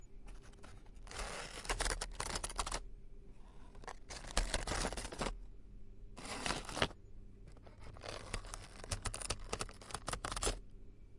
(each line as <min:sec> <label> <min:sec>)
0:00.3 flipping through an assortment of tea bags 0:02.8
0:03.6 flipping through an assortment of tea bags 0:05.4
0:06.2 flipping through an assortment of tea bags 0:10.6